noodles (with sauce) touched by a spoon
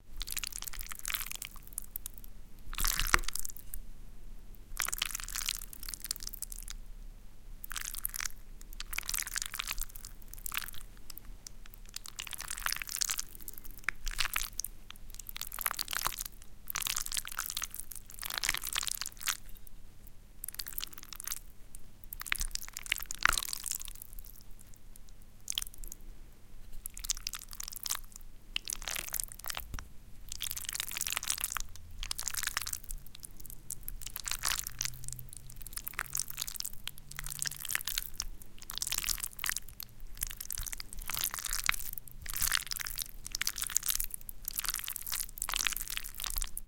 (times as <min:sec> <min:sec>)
0:07.7 0:19.6